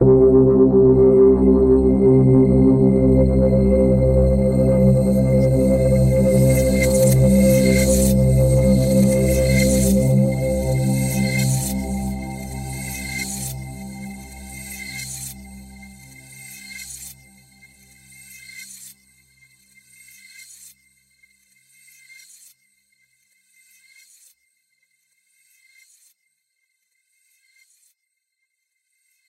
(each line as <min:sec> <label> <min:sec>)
0:00.0 multi-sampled synth pad 0:18.0